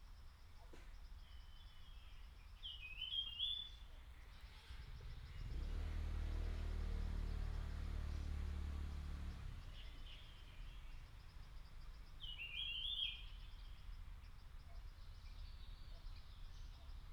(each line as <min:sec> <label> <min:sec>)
0:12.2 Bird calls 0:14.0